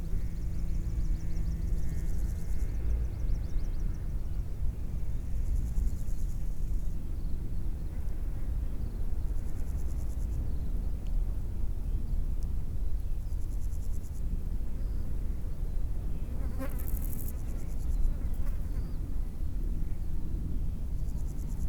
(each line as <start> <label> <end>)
13.0 crickets 19.3
20.7 crickets 21.6